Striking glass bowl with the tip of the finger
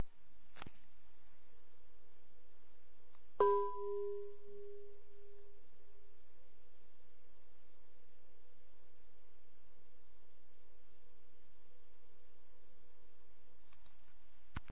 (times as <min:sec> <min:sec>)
0:03.4 0:05.0